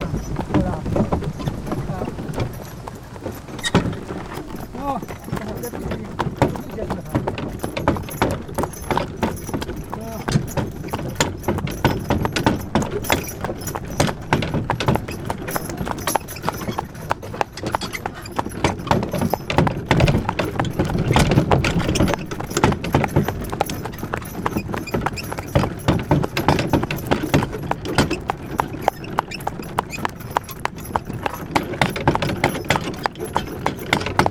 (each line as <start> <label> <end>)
0.0 Horse & wagon with lots of wooden & metal rattle 34.3